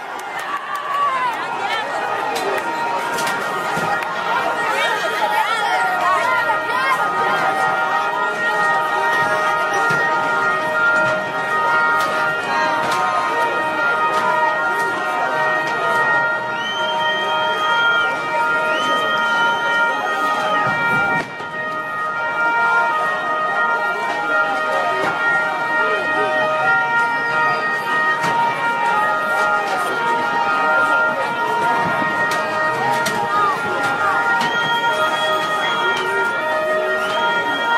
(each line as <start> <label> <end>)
0.0 crowd who rejoy and scream 8.1